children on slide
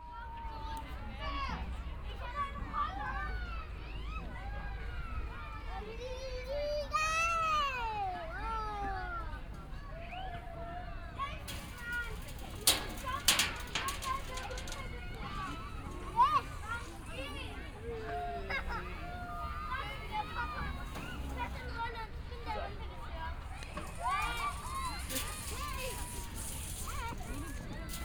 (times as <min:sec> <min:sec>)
0:11.4 0:28.0